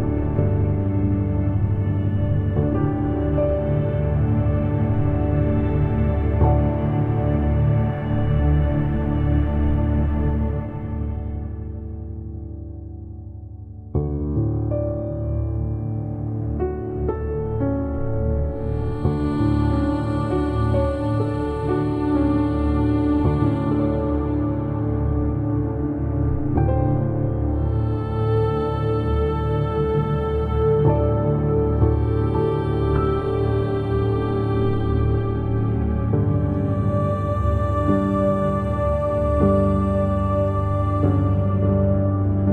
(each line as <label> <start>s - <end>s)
textured strings 0.0s - 12.8s
ethereal vocals 0.0s - 13.4s
Melodic piano 0.0s - 42.5s
ethereal vocals 14.7s - 42.5s